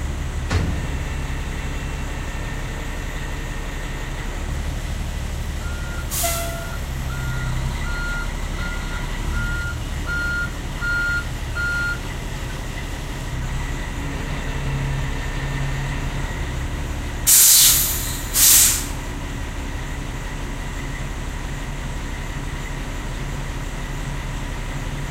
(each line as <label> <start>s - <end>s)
Truck idles 0.0s - 25.1s
drops off the dumpster 0.4s - 1.8s